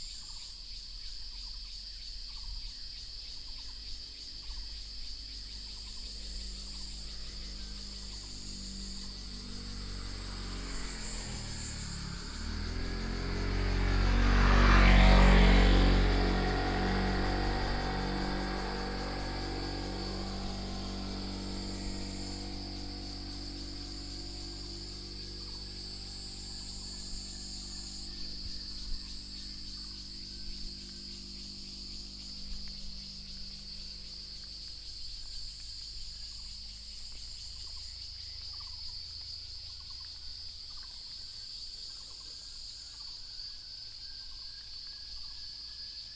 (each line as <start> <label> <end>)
0.0 Cicadas sound 46.1
5.2 Birdsong 40.2
5.5 Traffic Sound 37.2